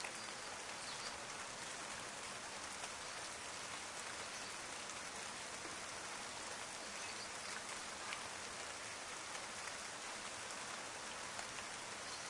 0.0s rain 12.2s

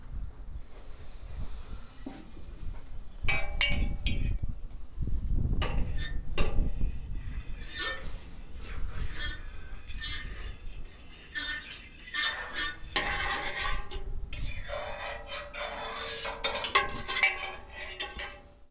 1.4s Scrapes 18.7s

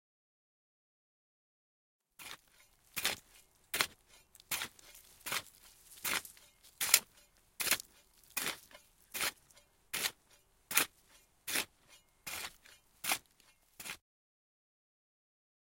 2.2s hoeing the earth with a metal hoe 14.0s

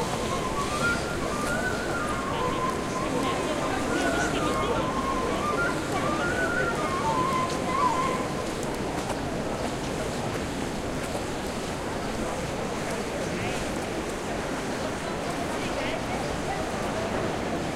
0.0s 'exotic' flute playing 8.8s
0.0s streetnoise 17.7s

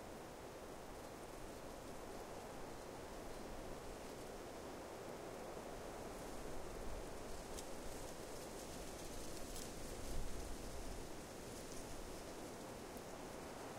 0.0s wind 13.7s

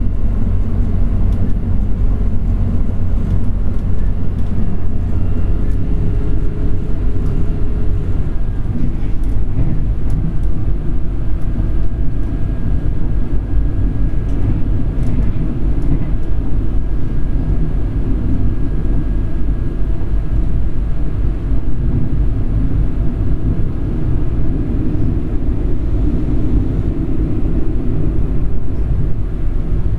0.0s running train 29.9s

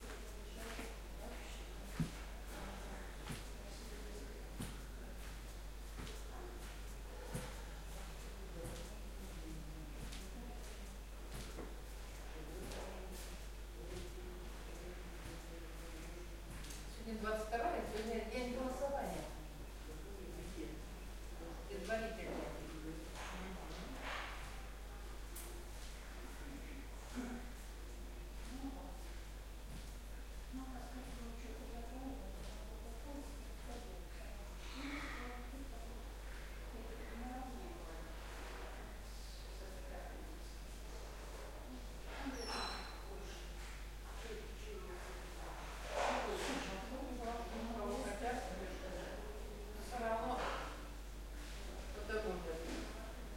0.0s walking around 19.4s
0.0s old ladies & gents calmly talking 53.3s

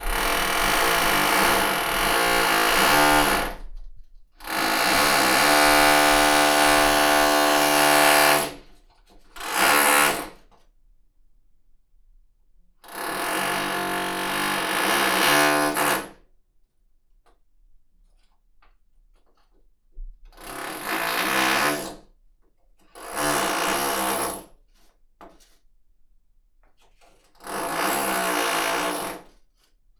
0.0s Drilling holes in the wall 8.7s
9.4s Drilling holes in the wall 10.4s
12.8s Drilling holes in the wall 16.2s
20.3s Drilling holes in the wall 22.0s
23.0s Drilling holes in the wall 24.6s
26.9s Drilling holes in the wall 29.4s

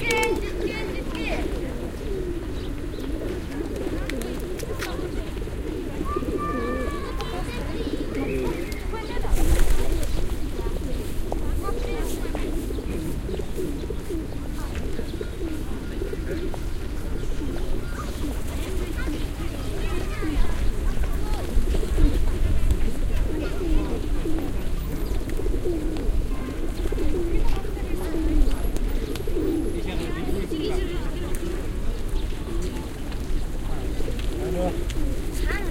0.0s large group of pigeons 35.7s
0.0s people 35.7s

